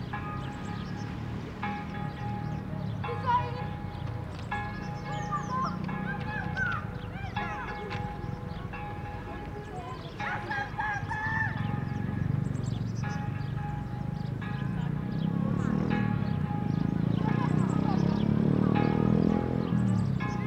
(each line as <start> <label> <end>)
4.4 Children are playing 10.7